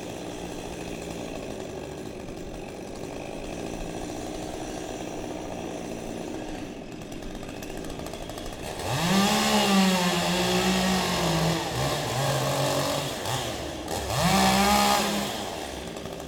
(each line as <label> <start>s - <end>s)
Cutting down a tree 0.0s - 16.2s